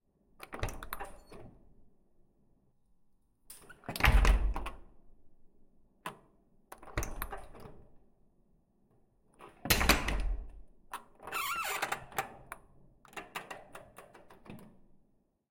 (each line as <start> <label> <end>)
11.2 door creaking 12.3
11.2 glass door 12.3